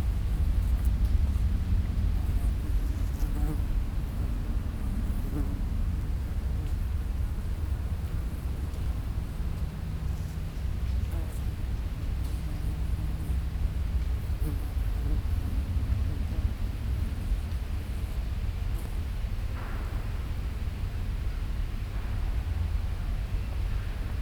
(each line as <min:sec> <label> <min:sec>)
0:19.3 huge building site 0:24.2